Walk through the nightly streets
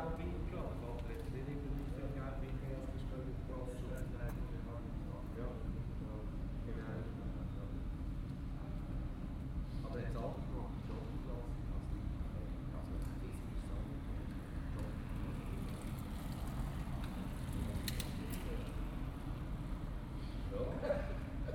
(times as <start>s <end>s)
10.8s 20.5s